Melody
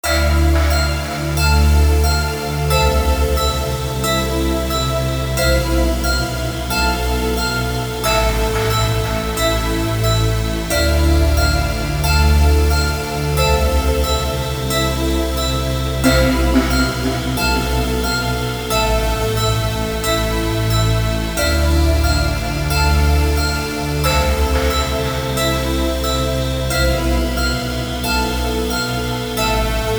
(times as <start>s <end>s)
16.0s 26.4s